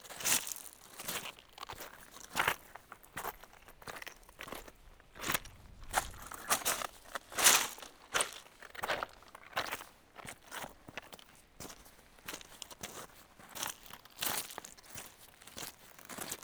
0.0s Walking on pebbles 16.4s

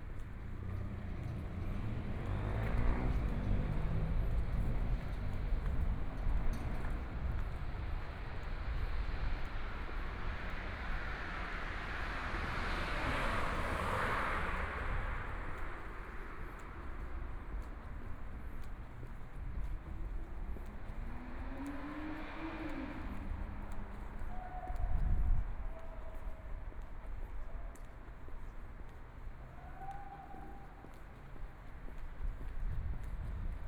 0.0s Traffic Sound 33.6s
0.0s walking in the Street 33.6s

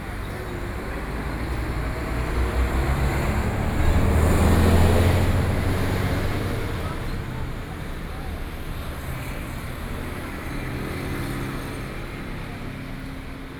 0.0s traffic noise 13.5s

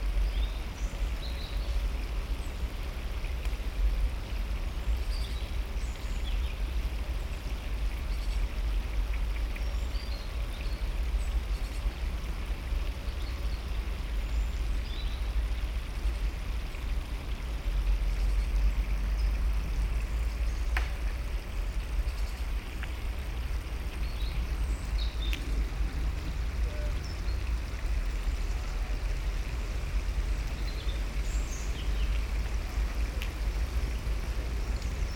0.0s Stream 35.1s
0.0s wind in trees 35.1s
18.7s motorway traffic 35.1s

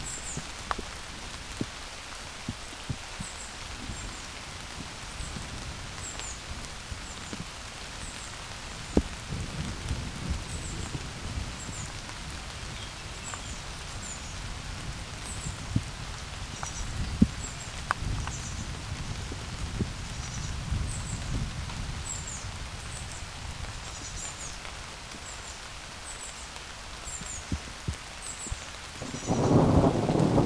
0.0s fine drops of rain disperse over leaves 30.4s
29.0s thunder lurk in the distance 30.4s

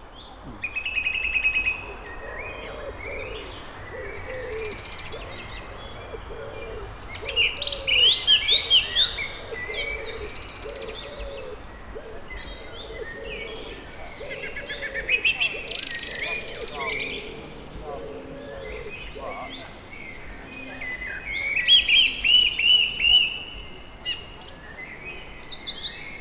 0.0s song thrush 26.2s

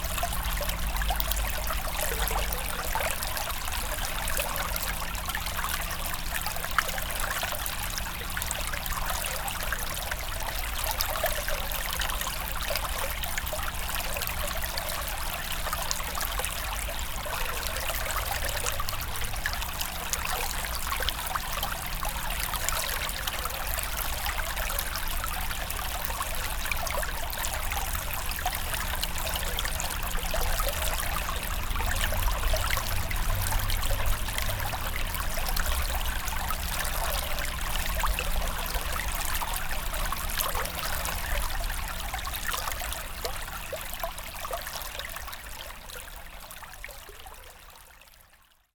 0.0s small river 48.7s

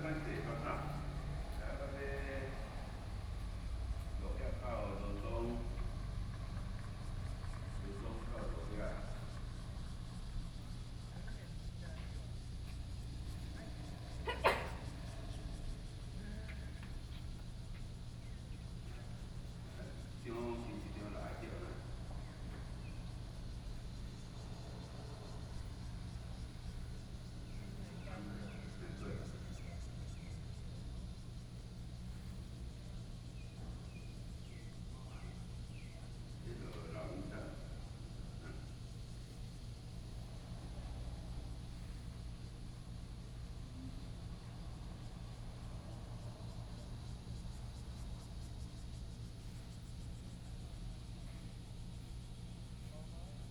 0.0s Traffic Sound 31.0s

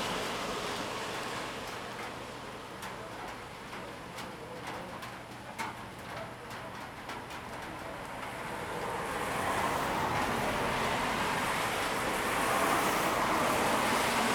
0.0s Traffic 3.1s
0.0s Rain 14.3s
7.5s Traffic 14.3s

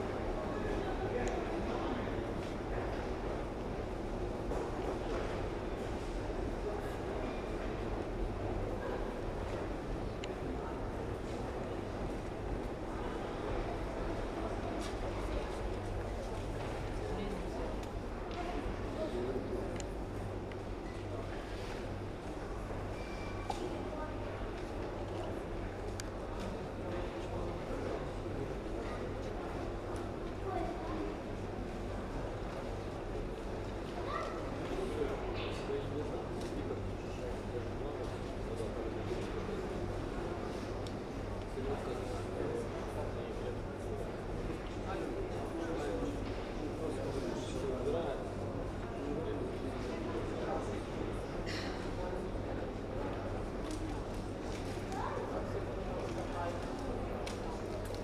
0.0s Subway 58.0s

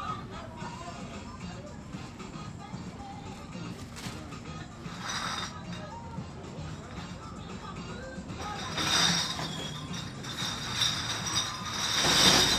3.6s beer bottle recycling 7.3s
8.2s beer bottle recycling 12.5s

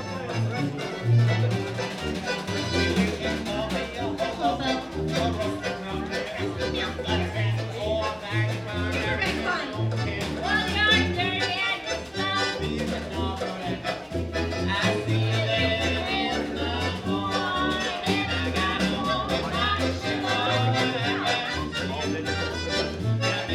0.0s folk band 23.5s

